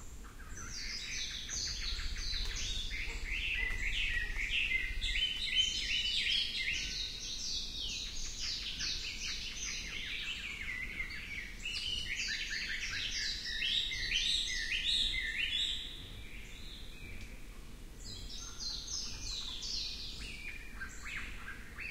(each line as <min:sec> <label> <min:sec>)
0:00.0 distant coqui frog calls 0:16.5
0:18.2 distant coqui frog calls 0:21.9